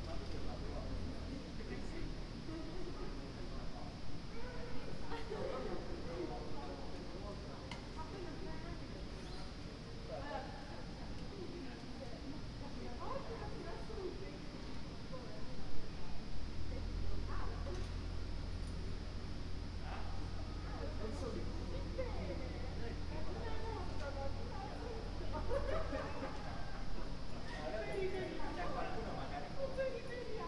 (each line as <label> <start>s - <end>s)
laughing students 25.3s - 27.2s